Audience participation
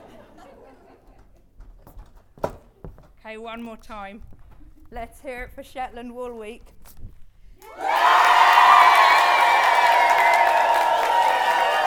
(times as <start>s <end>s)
7.6s 11.8s